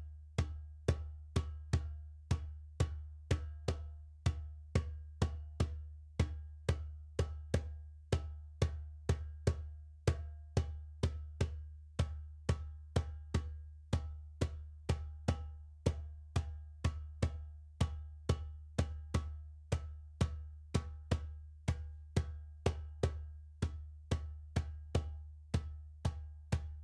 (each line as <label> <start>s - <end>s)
djembe 0.4s - 26.8s